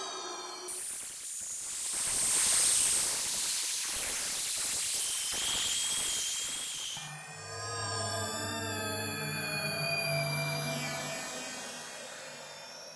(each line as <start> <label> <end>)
6.8 higher frequency screams & space noises 12.9
7.0 space drone 12.9